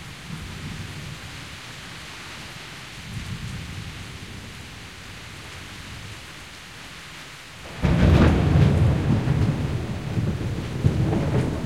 light rain 0.0 - 11.6
thunder 7.7 - 11.6

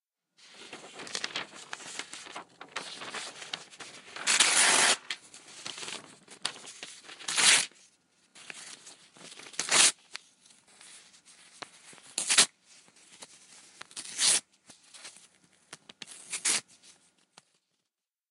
tearing paper 0.4 - 7.8
tearing paper 9.4 - 10.1
tearing paper 12.1 - 12.5
tearing paper 13.9 - 14.4
tearing paper 16.1 - 16.6

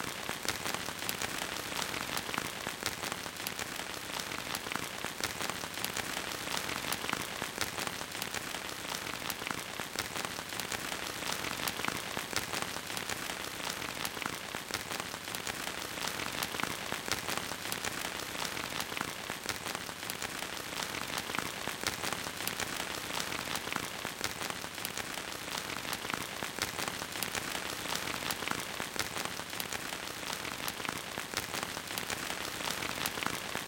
rain 0.0 - 33.6

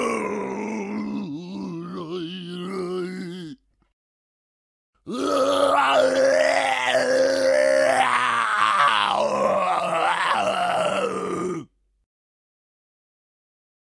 Misc Zombie 0.0 - 3.6
Misc Zombie 5.0 - 11.7

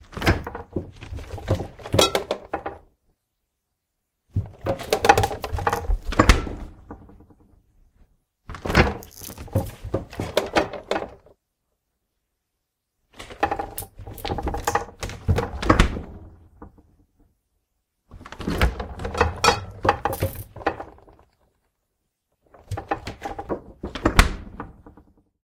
Opening and Closing of a Fridge 0.0 - 2.9
Opening and Closing of a Fridge 4.3 - 7.5
Opening and Closing of a Fridge 8.4 - 11.3
Opening and Closing of a Fridge 13.1 - 17.0
Opening and Closing of a Fridge 18.1 - 21.4
wiggling glass bottles 18.9 - 21.2
Opening and Closing of a Fridge 22.5 - 25.2

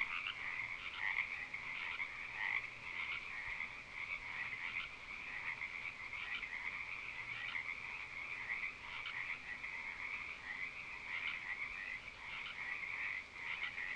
chorus of frogs 0.0 - 13.9

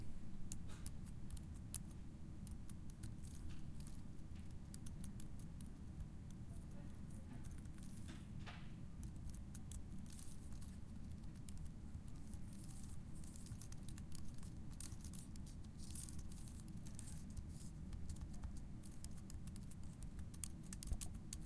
Typing Slow 18.0 - 21.4

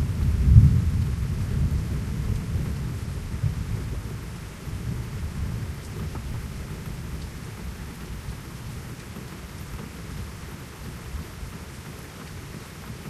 very loud thunderclaps 0.0 - 6.4
heavy rain 0.0 - 13.0

